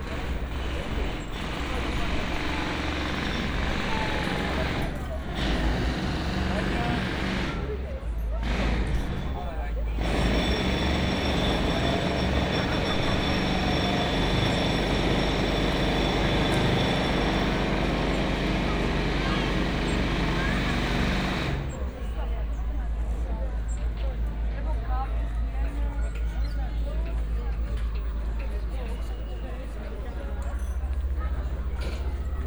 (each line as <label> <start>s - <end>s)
heavy construction 0.0s - 32.4s
visitors having meals/coffee 0.0s - 32.4s